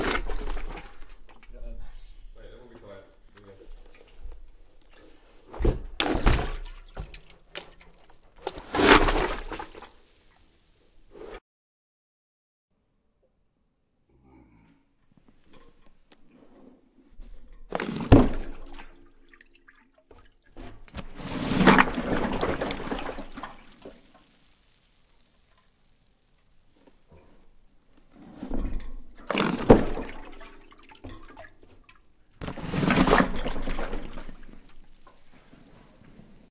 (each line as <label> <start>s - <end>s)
pulling a keg out of a tub of water 0.0s - 1.8s
pulling a keg out of a tub of water 2.7s - 10.0s
pulling a keg out of a tub of water 15.5s - 24.1s
pulling a keg out of a tub of water 27.1s - 36.5s